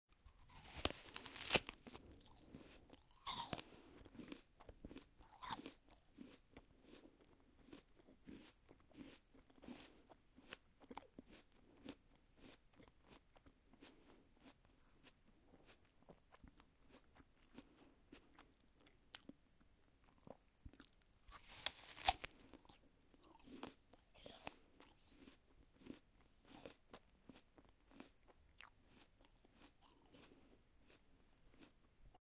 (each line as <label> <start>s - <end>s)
apple being bitten and chewed 0.1s - 32.2s